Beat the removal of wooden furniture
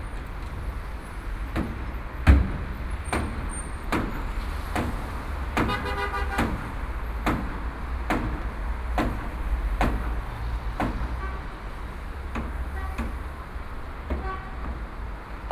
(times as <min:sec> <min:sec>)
0:06.4 0:11.2